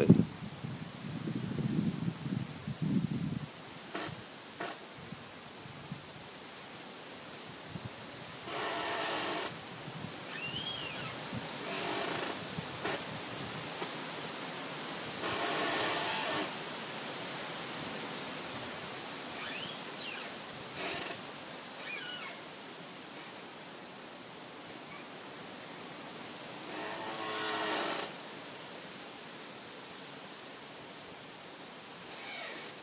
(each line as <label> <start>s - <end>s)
windy forest 0.0s - 32.8s
squeeky tree 3.8s - 4.8s
squeeky tree 8.5s - 9.6s
squeeky tree 10.2s - 13.1s
squeeky tree 15.2s - 16.6s
squeeky tree 19.3s - 22.5s
squeeky tree 24.7s - 25.3s
squeeky tree 26.6s - 28.2s
squeeky tree 32.0s - 32.8s